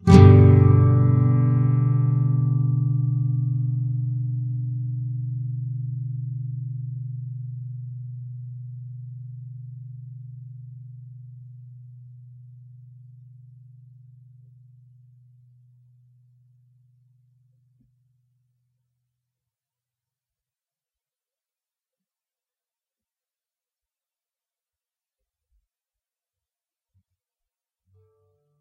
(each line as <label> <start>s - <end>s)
Standard open G Major chord. Up strum 0.0s - 10.5s